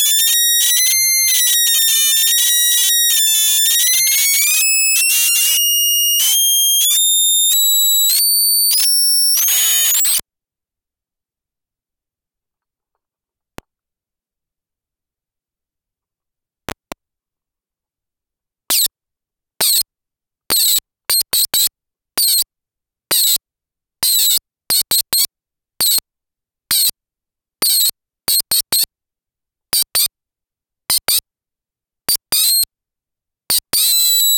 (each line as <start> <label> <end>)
0.0 atari punk console 10.2